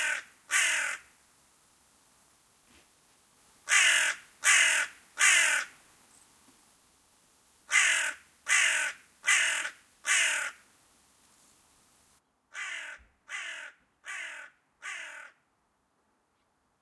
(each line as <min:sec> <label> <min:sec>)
0:00.0 crowing 0:01.1
0:03.7 crowing 0:05.8
0:07.7 crowing 0:10.6
0:12.5 crowing 0:15.4